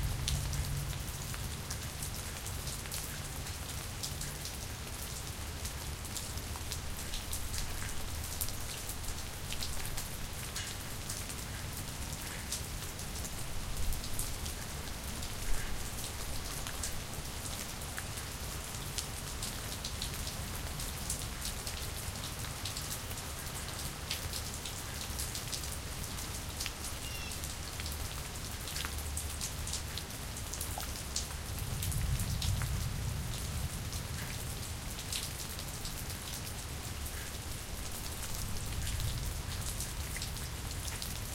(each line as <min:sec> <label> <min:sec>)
0:00.0 Medium rain from porch 0:41.3